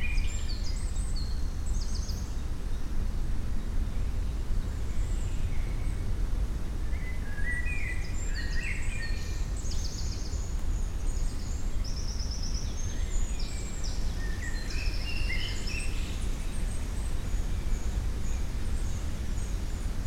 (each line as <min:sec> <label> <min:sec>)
0:00.0 Wind in the trees 0:20.0
0:00.0 birds 0:20.0